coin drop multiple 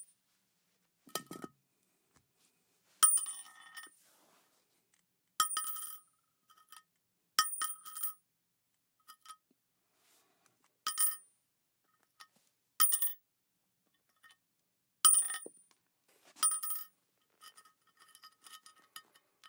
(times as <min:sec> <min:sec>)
0:10.9 0:11.2, 0:12.8 0:13.2, 0:16.4 0:16.9